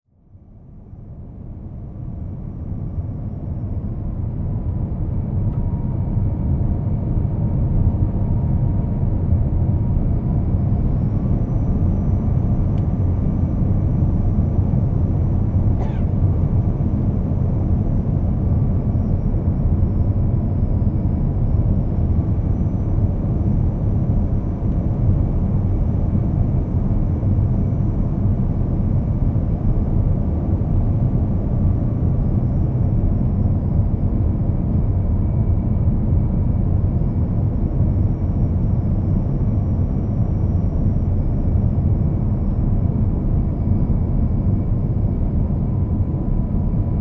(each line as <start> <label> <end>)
0.6 airplane begin to taxi 47.0